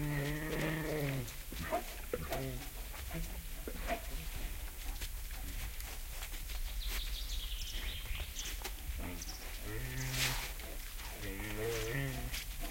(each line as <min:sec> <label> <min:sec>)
0:00.0 Bears eating and growling 0:06.1
0:06.5 birds in the bg 0:12.2
0:08.6 Bears eating and growling 0:12.7